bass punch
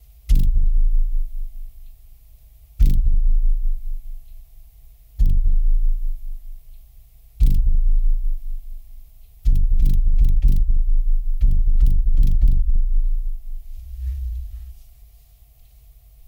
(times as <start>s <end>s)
0.3s 1.8s, 2.8s 4.3s, 5.2s 6.6s, 7.4s 14.8s